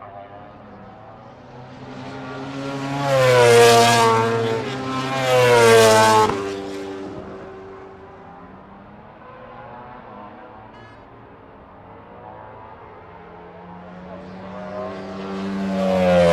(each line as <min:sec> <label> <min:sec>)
0:00.0 Motorcycle Grand Prix 0:16.3